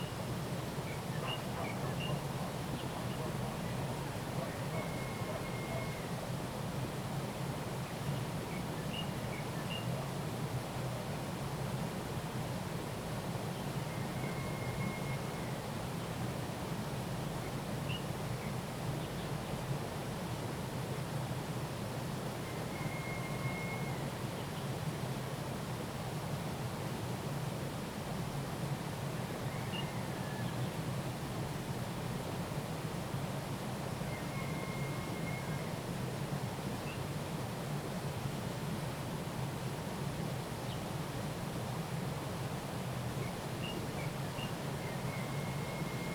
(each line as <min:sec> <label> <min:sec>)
0:00.0 Stream 0:46.1